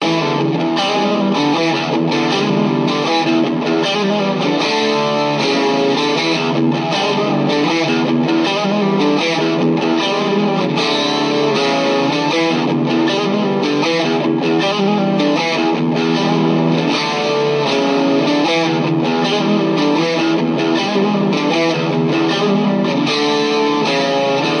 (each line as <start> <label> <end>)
0.0 Funky electric guitar riff 24.6